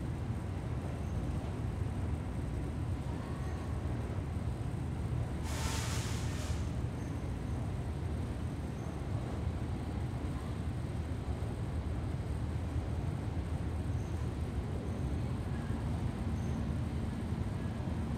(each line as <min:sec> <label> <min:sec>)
0:05.4 steam hisses 0:06.8